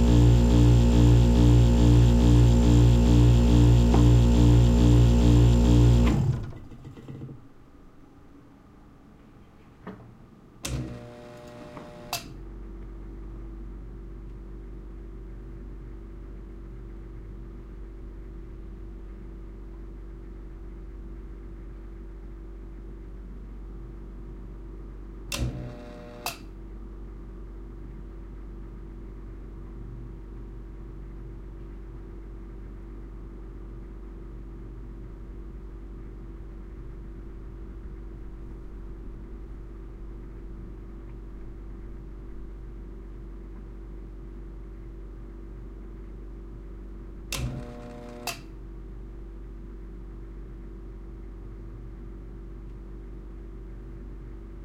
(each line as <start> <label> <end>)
0.0 pulsating compressor click on with false starts 7.4
0.0 low-level fridge 54.6
10.6 pulsating compressor click on with false starts 12.4
25.3 pulsating compressor click on with false starts 26.4
47.3 pulsating compressor click on with false starts 48.5